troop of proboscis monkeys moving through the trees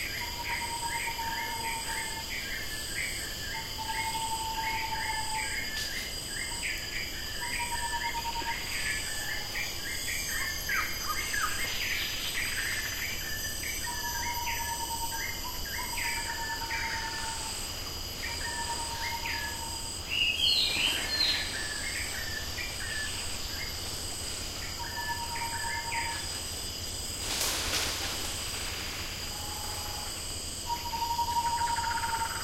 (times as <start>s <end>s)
20.4s 32.3s